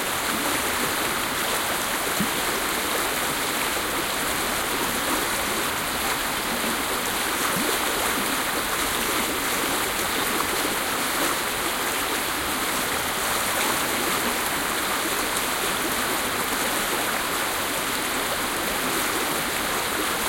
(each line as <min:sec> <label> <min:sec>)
0:00.0 mountainstream 0:20.2